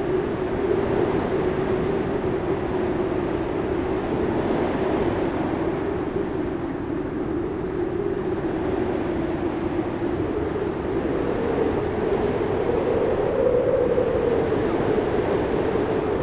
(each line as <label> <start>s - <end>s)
very strong wind in the electric lines 0.0s - 16.2s